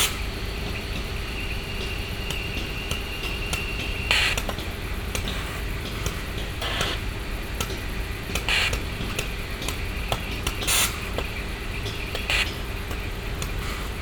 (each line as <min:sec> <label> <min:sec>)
0:07.7 Moisture traps in steam lines spitting out the collected water 0:14.0